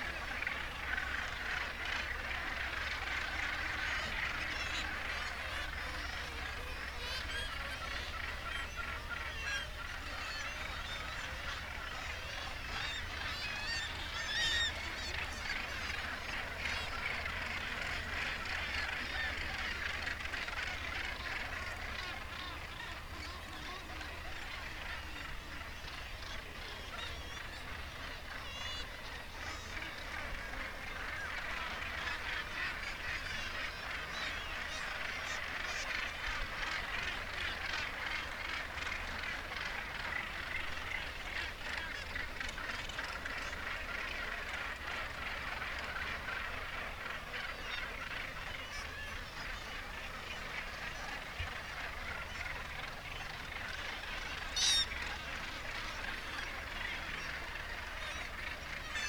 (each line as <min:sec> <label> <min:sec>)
0:00.0 gannet calls and flight calls 0:59.0
0:00.0 kittiwake calls 0:59.0